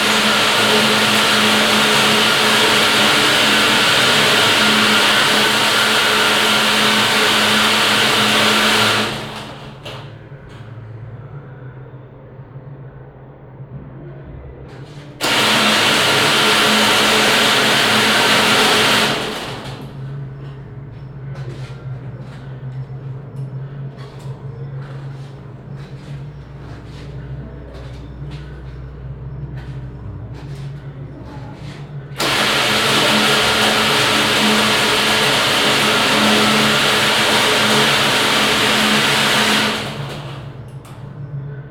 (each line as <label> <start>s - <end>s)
small motors that start to move and rattle 0.0s - 10.1s
other machines 0.0s - 12.5s
other machines 14.2s - 41.7s
small motors that start to move and rattle 15.2s - 20.1s
small motors that start to move and rattle 32.2s - 40.7s